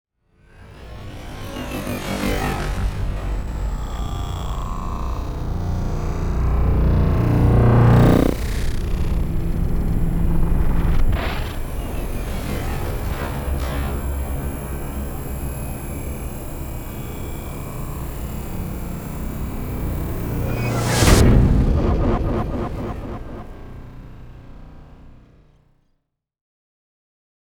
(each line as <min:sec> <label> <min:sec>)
0:00.6 riser 0:25.3
0:18.4 whoosh 0:25.2
0:19.6 boom 0:25.2
0:19.6 explosion 0:25.2